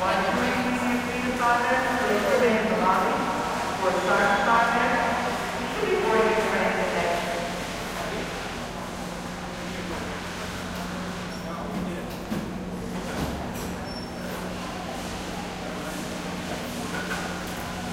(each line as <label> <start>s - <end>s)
crowd 1.9s - 17.9s